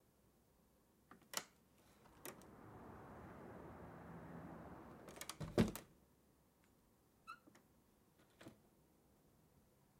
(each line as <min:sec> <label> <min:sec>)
0:01.2 front door 0:06.0